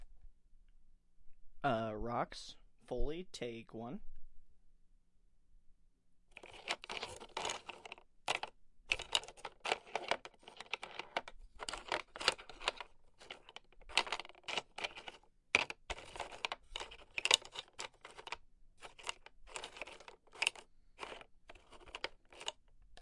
rocks moving 6.3 - 22.5

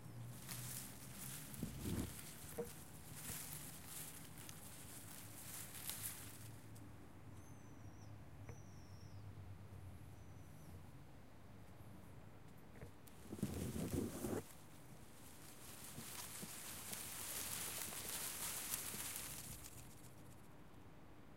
plants moving on the wind 0.0 - 6.8
plants moving on the wind 12.8 - 20.4

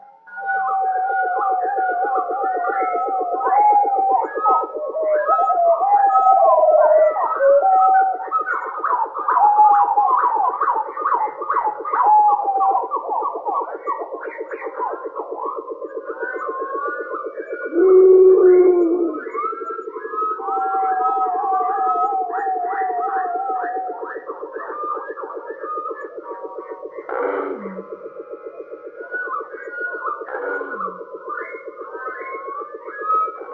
dinosaur 17.7 - 19.3

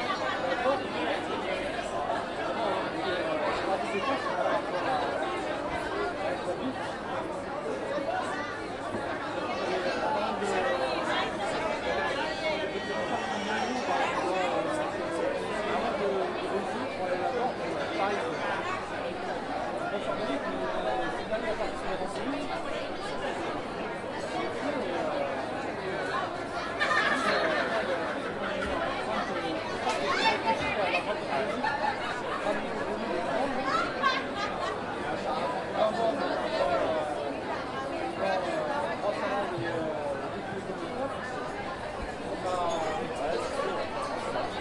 Indistinct European voices in conversation 0.0 - 44.6
laughter 26.6 - 28.8

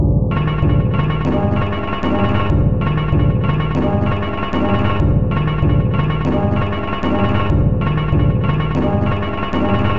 Drum 0.0 - 9.9

